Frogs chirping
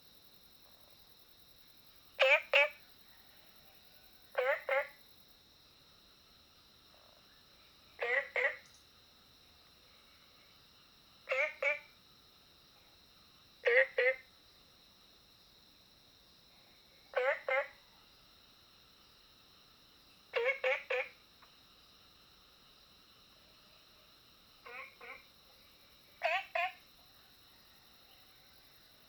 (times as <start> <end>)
0.6 5.3, 6.9 8.8, 9.9 12.0, 13.6 14.4, 17.1 19.2, 19.9 29.0